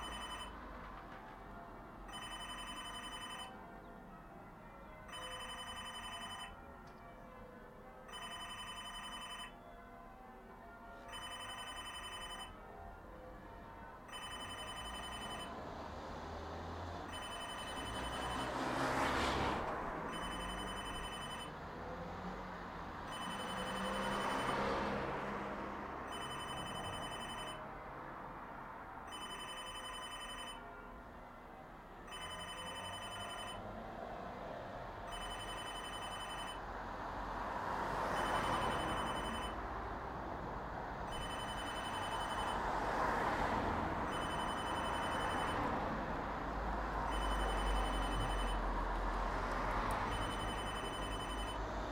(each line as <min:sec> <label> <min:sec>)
0:00.0 telephone booth bell 0:00.6
0:00.0 traffic on the road 0:51.9
0:02.1 telephone booth bell 0:03.6
0:05.0 telephone booth bell 0:07.2
0:08.1 telephone booth bell 0:10.1
0:10.8 telephone booth bell 0:12.6
0:14.1 telephone booth bell 0:15.5
0:17.1 telephone booth bell 0:18.5
0:20.1 telephone booth bell 0:21.5
0:23.1 telephone booth bell 0:24.6
0:26.1 telephone booth bell 0:27.6
0:29.1 telephone booth bell 0:30.8
0:32.1 telephone booth bell 0:33.6
0:35.1 telephone booth bell 0:36.6
0:38.2 telephone booth bell 0:39.6
0:41.1 telephone booth bell 0:42.6
0:44.1 telephone booth bell 0:45.6
0:47.1 telephone booth bell 0:48.6
0:50.1 telephone booth bell 0:51.6